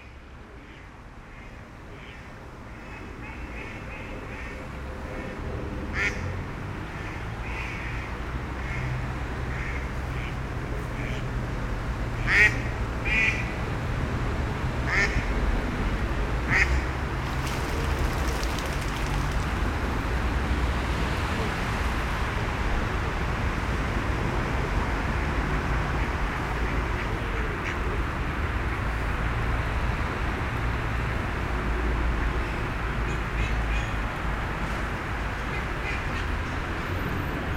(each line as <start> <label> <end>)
0.0 cars everywhere 37.5
17.0 Seine river flowing 20.2